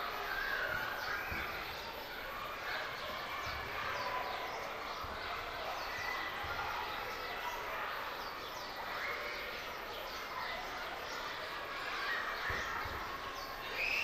Kids playing 0:00.0 - 0:14.0
birds 0:00.0 - 0:14.0
screaming 0:13.6 - 0:14.0

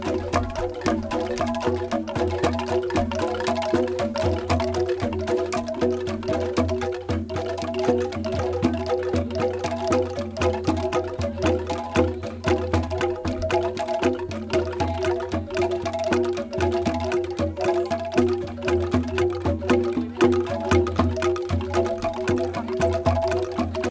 bass angklung 0:00.0 - 0:23.9

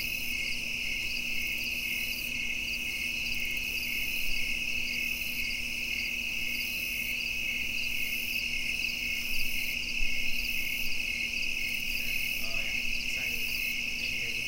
crickets 0:00.0 - 0:14.4

